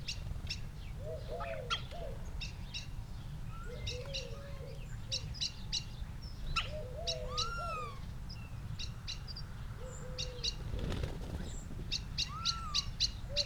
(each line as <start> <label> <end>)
0.0 collared dove 13.4
0.0 blackbird 13.4
6.6 starling calls 8.0
11.9 starling calls 13.4